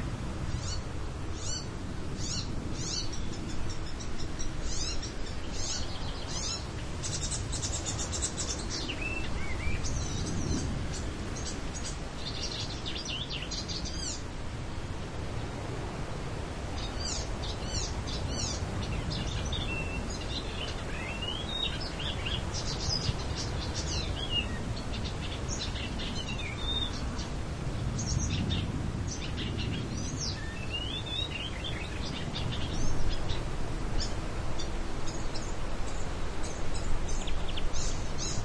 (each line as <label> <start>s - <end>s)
wind 0.0s - 38.4s
bird was singing 0.5s - 14.2s
bird was singing 16.8s - 27.4s
bird was singing 28.0s - 38.4s